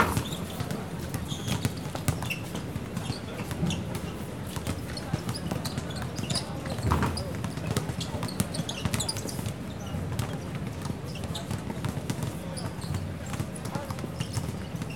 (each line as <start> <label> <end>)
0.0 Basketball court 14.9